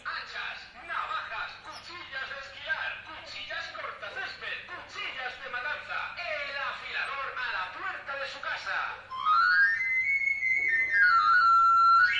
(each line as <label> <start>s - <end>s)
loudspeakers sounding the traditional whistle 9.1s - 12.1s